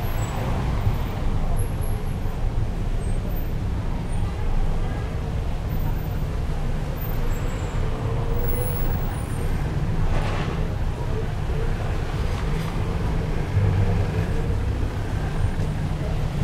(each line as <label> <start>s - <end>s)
cars 0.0s - 16.4s